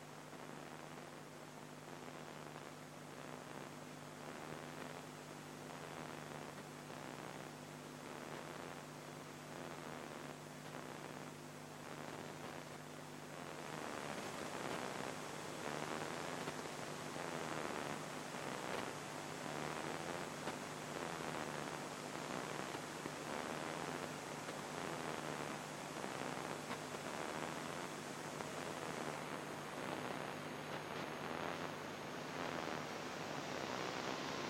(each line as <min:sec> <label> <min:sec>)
0:00.0 Radio noise and static 0:34.4
0:00.0 sound fragments from random radio stations 0:34.4